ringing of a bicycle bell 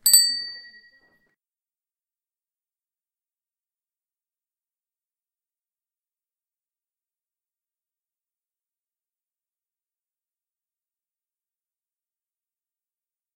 0:00.0 0:01.2

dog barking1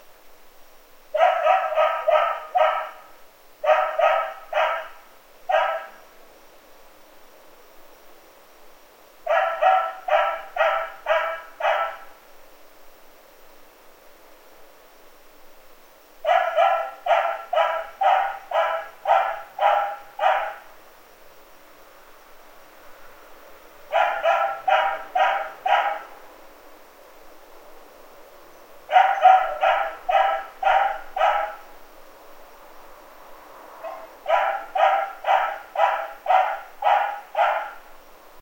0:01.2 0:06.0, 0:09.3 0:12.1, 0:16.2 0:20.6, 0:23.9 0:26.1, 0:28.9 0:31.7, 0:33.8 0:37.9

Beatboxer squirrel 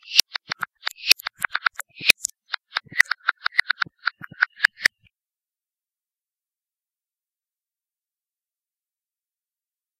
0:00.0 0:05.0

